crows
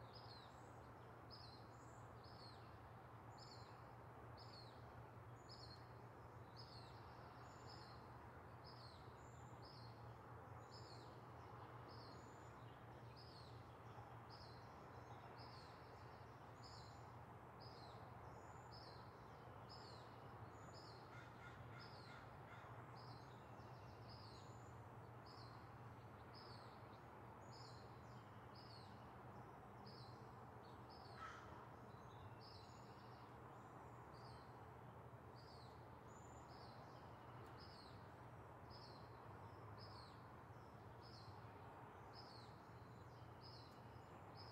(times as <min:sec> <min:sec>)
0:21.1 0:22.8, 0:31.2 0:31.7